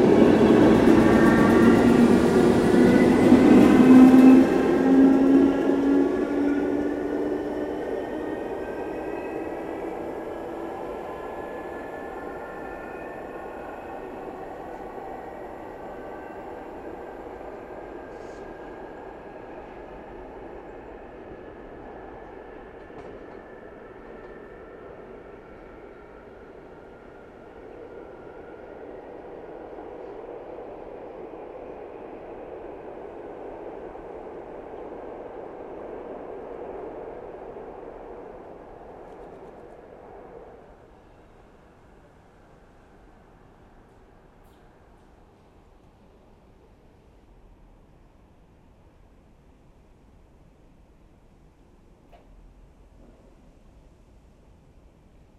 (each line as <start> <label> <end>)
0.0 train leaving 55.2
0.0 a walk in the tunnel 55.3